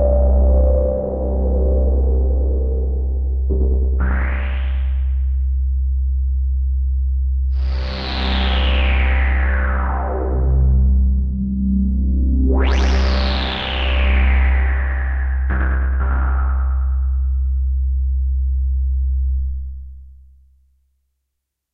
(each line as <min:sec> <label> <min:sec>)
0:03.5 synth phrase 0:05.5